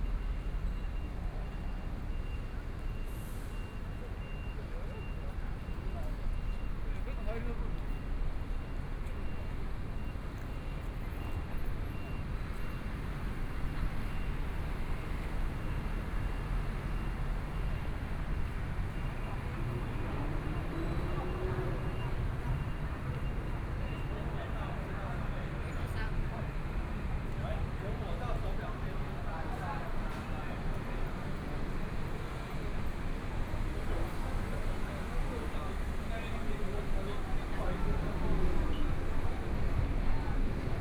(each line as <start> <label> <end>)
14.3 Traffic Sound 40.8